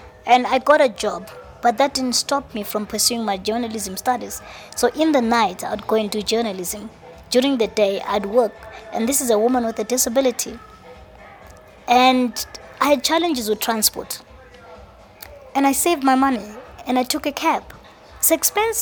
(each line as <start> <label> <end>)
0.0 talking life 18.8